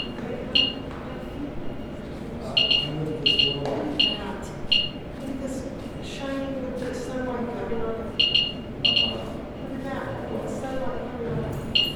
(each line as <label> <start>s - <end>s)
Geiger counter 0.0s - 0.8s
Geiger counter 2.6s - 5.0s
Geiger counter 8.2s - 9.2s